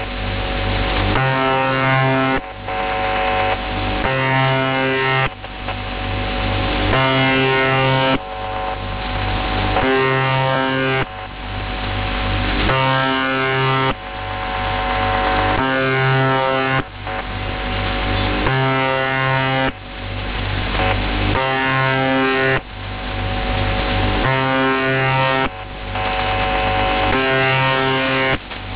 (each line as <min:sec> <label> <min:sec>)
0:00.0 static 0:28.7
0:01.2 russian radio signal 0:05.3